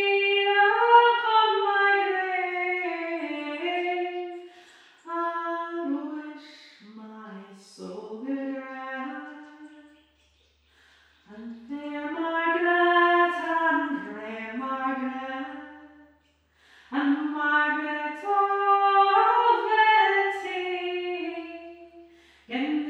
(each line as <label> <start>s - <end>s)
singing the Border Ballad 0.0s - 9.8s
singing the Border Ballad 16.8s - 21.9s
singing the Border Ballad 22.5s - 22.8s